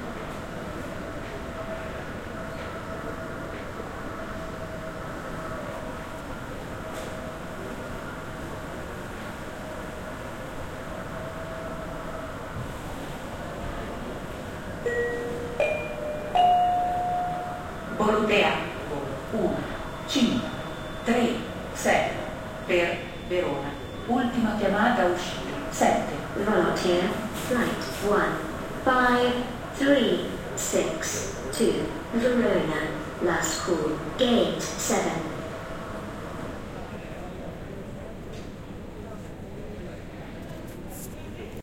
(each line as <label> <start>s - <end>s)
people talking 14.9s - 35.4s